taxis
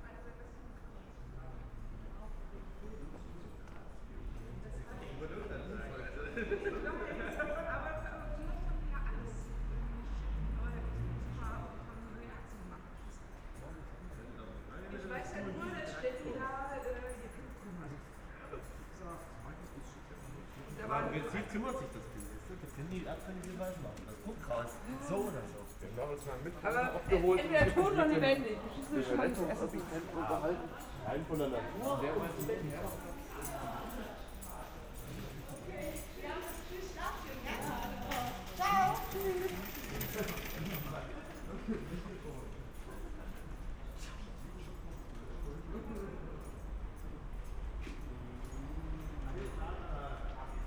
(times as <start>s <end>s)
26.3s 50.6s